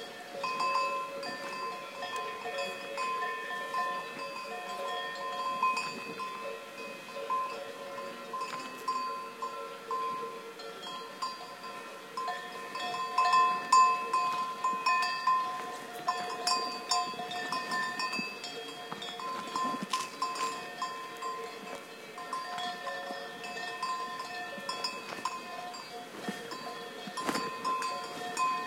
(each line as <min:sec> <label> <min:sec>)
0:00.0 bells 0:28.6
0:00.0 cow grazing 0:28.6
0:05.8 voices in background 0:24.0